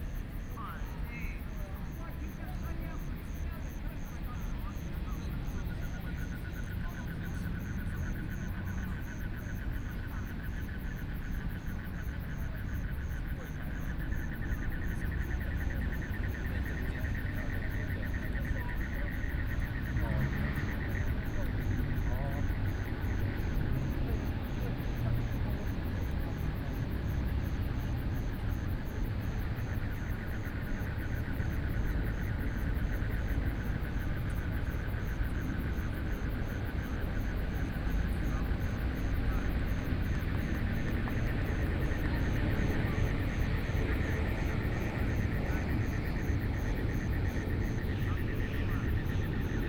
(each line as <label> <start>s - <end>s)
Frogs sound 0.0s - 49.6s
Traffic Sound 13.2s - 49.6s